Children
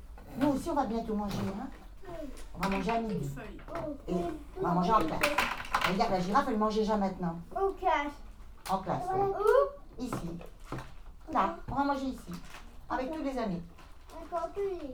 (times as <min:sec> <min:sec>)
0:01.7 0:05.9, 0:07.4 0:11.8, 0:14.0 0:14.9